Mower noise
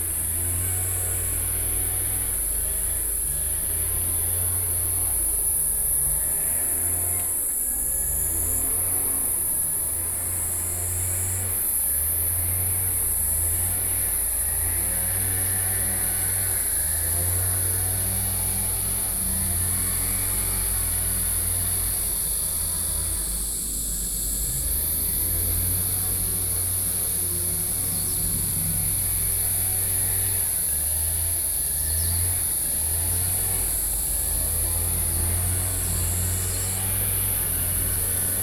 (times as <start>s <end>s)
24.4s 38.4s